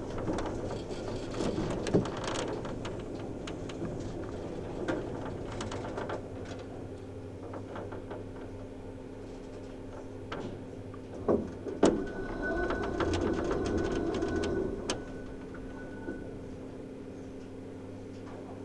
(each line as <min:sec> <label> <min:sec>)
0:10.5 hotel elevator 0:17.4